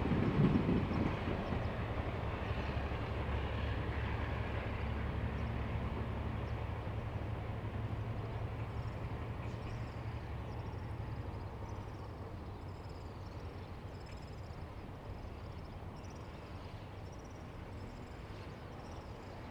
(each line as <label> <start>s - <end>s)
Train traveling through 0.0s - 13.9s